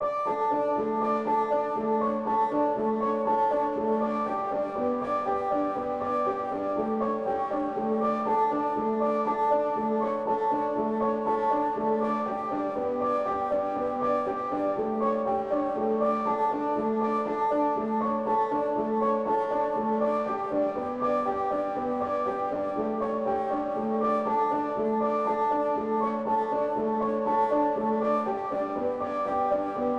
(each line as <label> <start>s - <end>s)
piano 0.0s - 29.9s